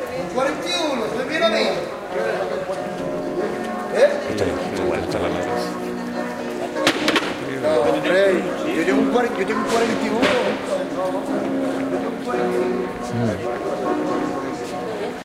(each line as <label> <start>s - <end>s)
male voices 0.2s - 5.9s
male voices 7.3s - 14.9s